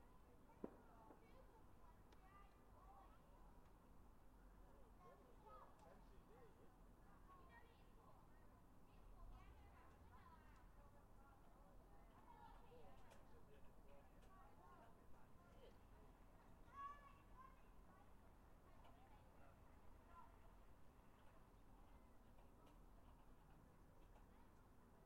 bnfire 0:00.1 - 0:02.7
fireworks 0:00.6 - 0:01.3
people 0:04.6 - 0:23.2

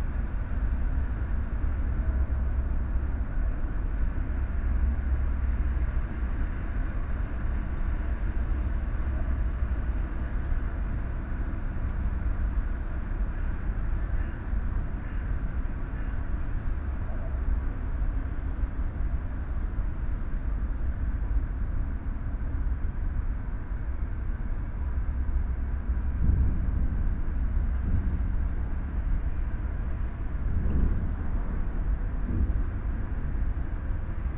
Large container-harbour crane and associated machinery moving 0:00.0 - 0:34.3

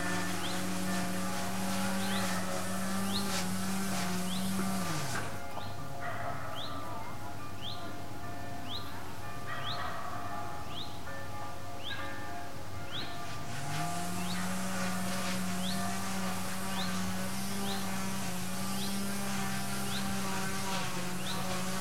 drill howl 0:00.0 - 0:05.4
electric and manual saws cut various objects 0:00.0 - 0:05.6
lawnmowers roar 0:00.0 - 0:05.6
electric and manual saws cut various objects 0:13.2 - 0:21.8
lawnmowers roar 0:13.2 - 0:21.8
drill howl 0:13.3 - 0:21.8

